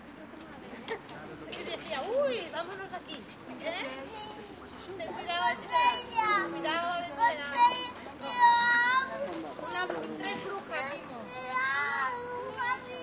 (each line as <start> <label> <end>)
0.0 parents 13.0
3.6 children 13.0